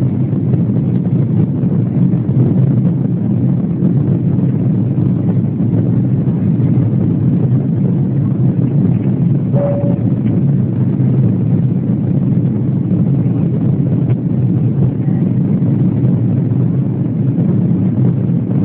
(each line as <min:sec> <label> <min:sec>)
0:00.0 Plane taking off 0:18.6
0:14.8 peopletalk 0:15.6